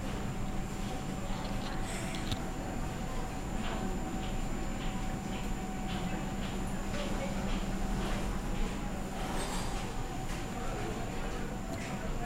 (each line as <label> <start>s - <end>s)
train 3.5s - 10.2s